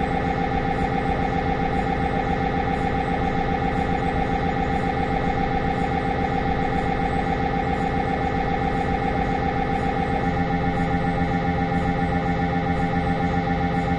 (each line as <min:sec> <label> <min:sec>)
0:00.0 MRI scanner running PD T2 sequence 0:13.9